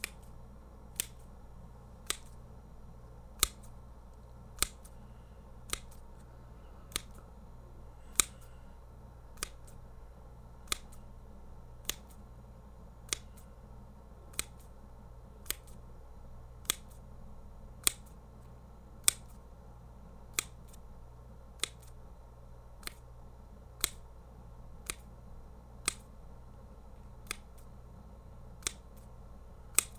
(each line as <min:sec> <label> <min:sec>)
0:00.0 Small scissors snipping 0:01.4
0:02.0 Small scissors snipping 0:02.4
0:03.4 Small scissors snipping 0:05.0
0:05.6 Small scissors snipping 0:06.3
0:06.9 Small scissors snipping 0:07.3
0:08.0 Small scissors snipping 0:08.6
0:09.4 Small scissors snipping 0:09.8
0:10.6 Small scissors snipping 0:11.1
0:11.8 Small scissors snipping 0:12.2
0:13.1 Small scissors snipping 0:13.5
0:14.3 Small scissors snipping 0:14.8
0:15.4 Small scissors snipping 0:15.9
0:16.6 Small scissors snipping 0:17.0
0:17.8 Small scissors snipping 0:19.5
0:20.3 Small scissors snipping 0:20.8
0:21.6 Small scissors snipping 0:22.0
0:22.8 Small scissors snipping 0:23.0
0:23.8 Small scissors snipping 0:24.1
0:24.8 Small scissors snipping 0:25.1
0:25.8 Small scissors snipping 0:26.2
0:27.1 Small scissors snipping 0:27.7
0:28.6 Small scissors snipping 0:29.1
0:29.7 Small scissors snipping 0:29.9